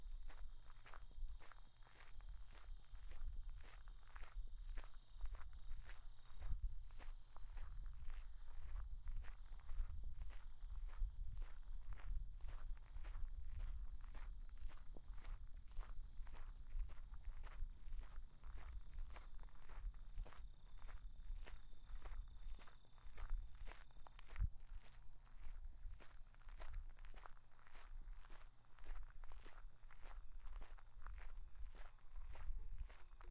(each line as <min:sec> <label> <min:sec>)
0:00.0 Walking on gravel trail 0:33.3